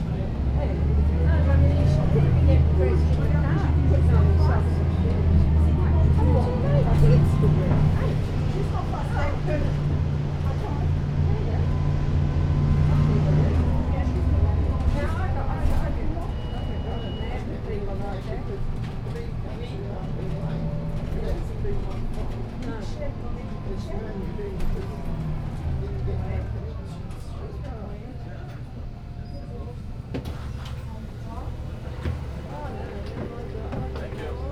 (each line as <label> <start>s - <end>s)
433 bus 0.0s - 34.5s